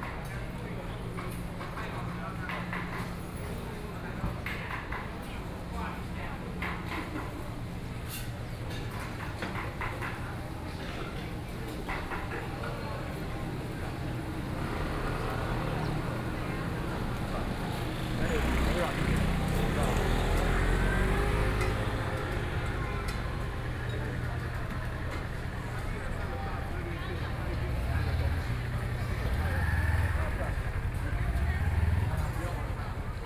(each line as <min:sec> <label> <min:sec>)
0:00.2 Traffic Sound 0:33.2